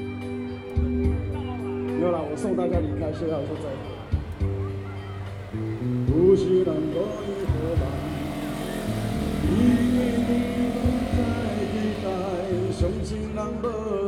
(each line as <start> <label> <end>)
0.0 Traffic Sound 14.0